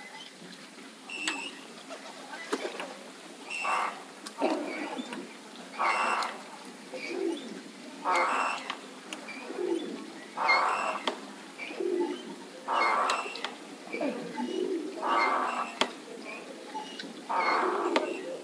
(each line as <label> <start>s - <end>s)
squeaking swinging bench 12.8s - 15.9s